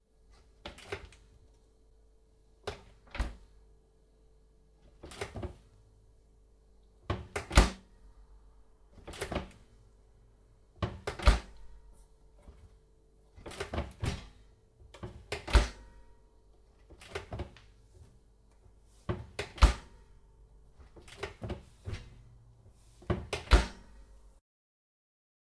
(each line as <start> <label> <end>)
0.6 Oven Opening And Closing With Variations 1.3
2.6 Oven Opening And Closing With Variations 3.5
4.8 Oven Opening And Closing With Variations 5.7
7.0 Oven Opening And Closing With Variations 7.9
8.9 Oven Opening And Closing With Variations 9.7
10.8 Oven Opening And Closing With Variations 11.7
12.4 Oven Opening And Closing With Variations 16.1
16.8 Oven Opening And Closing With Variations 18.2
18.9 Oven Opening And Closing With Variations 20.1
20.7 Oven Opening And Closing With Variations 24.2